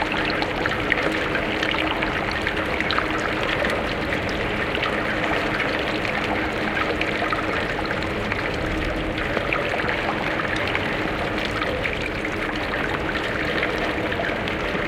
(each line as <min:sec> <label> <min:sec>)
0:00.0 Dripping 0:14.8
0:00.0 Water flowing through the drainpipe 0:14.8